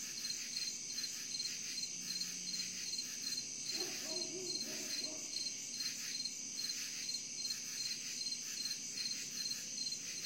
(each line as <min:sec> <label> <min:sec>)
0:00.0 crickets 0:10.2